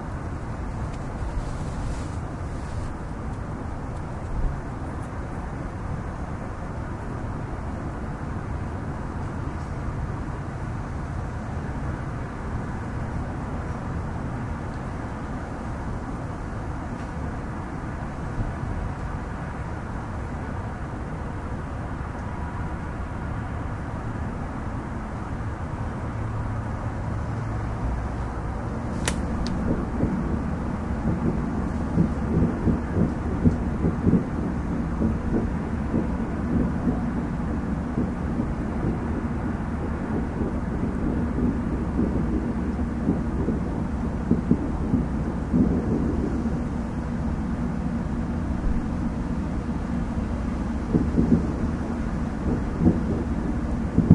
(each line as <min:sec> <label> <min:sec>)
0:00.0 other suburban sounds 0:54.1
0:26.8 distant fireworks 0:54.1